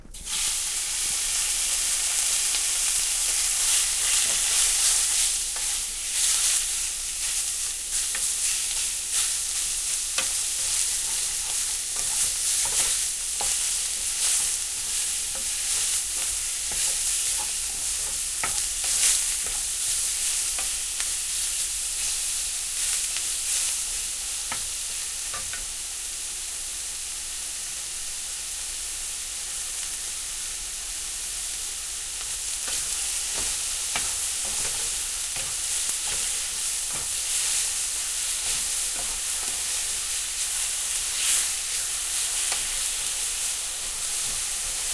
frying 0:00.0 - 0:44.9

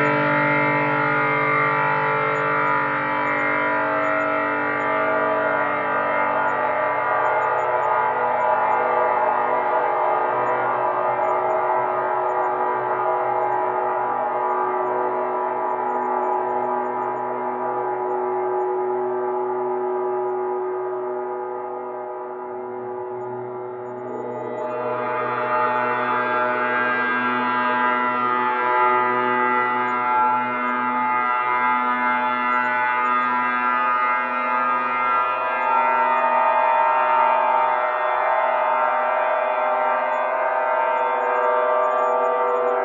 filter-swept oscillators that are heavily reverberated 0:00.0 - 0:42.8

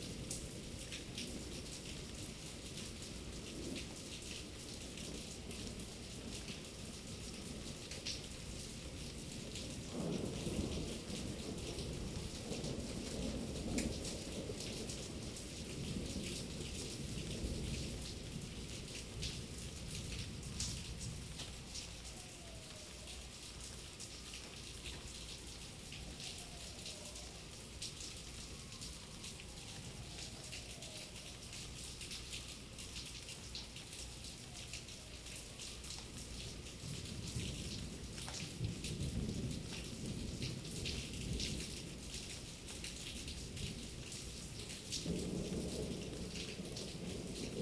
rain 0:00.0 - 0:47.6
Heavy Thunder Storm 0:45.0 - 0:47.6

